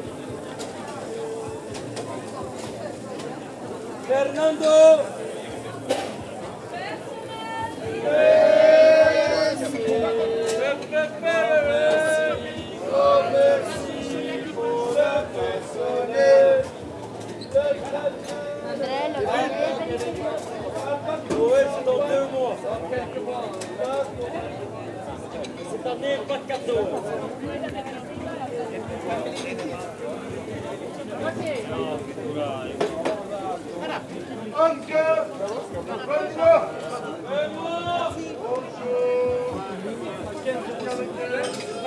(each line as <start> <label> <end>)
0.0 a lot of people eat mussels and white wine 41.8
33.6 salespersons shout and call the clients 41.8